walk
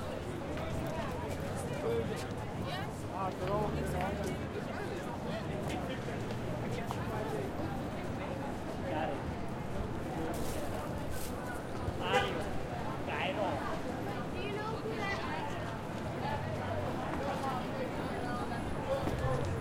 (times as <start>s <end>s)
0.1s 8.0s, 15.2s 17.8s, 18.6s 19.6s